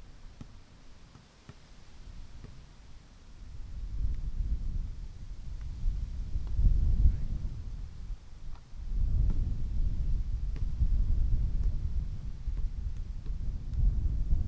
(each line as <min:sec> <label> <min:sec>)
0:00.0 wind 0:14.4
0:00.3 volleyball 0:02.8
0:10.4 basketball 0:13.9
0:10.4 volleyball 0:13.9